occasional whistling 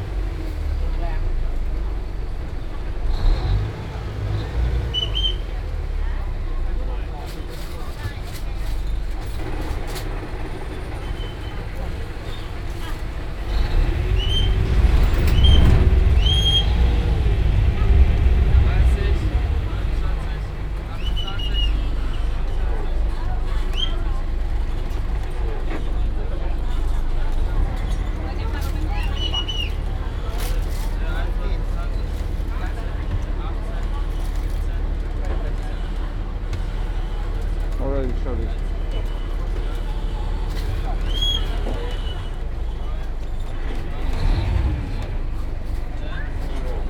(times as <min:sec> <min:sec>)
0:04.9 0:05.5, 0:14.2 0:16.8, 0:20.9 0:21.9